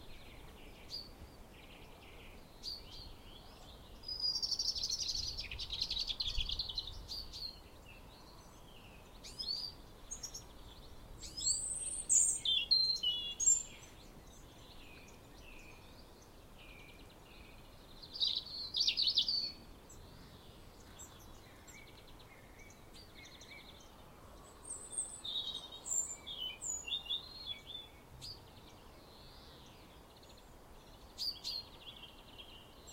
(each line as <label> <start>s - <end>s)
Song Thrush 0.0s - 32.9s